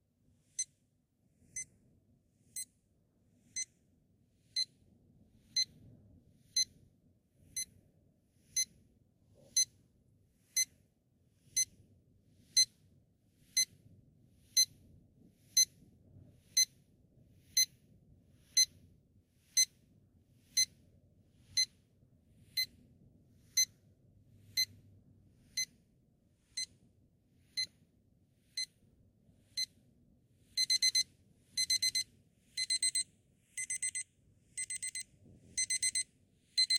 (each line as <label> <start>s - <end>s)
alarm clock beeping loudly 30.6s - 36.7s